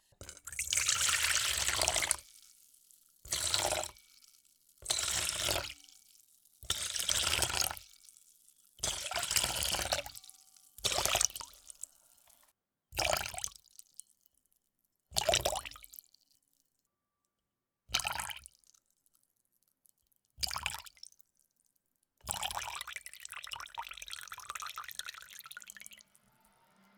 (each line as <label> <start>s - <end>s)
Water pouring from a plastic watering can into a metal bowl 0.0s - 12.2s
Water pouring from a plastic watering can into a metal bowl 22.3s - 26.2s